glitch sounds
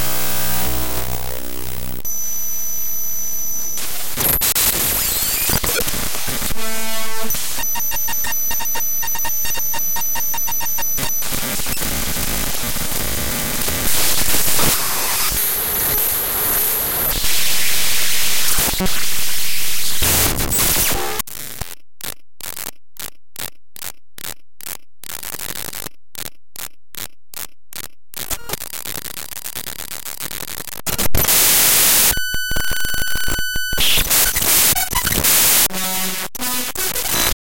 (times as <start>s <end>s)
0.0s 21.2s, 30.5s 37.4s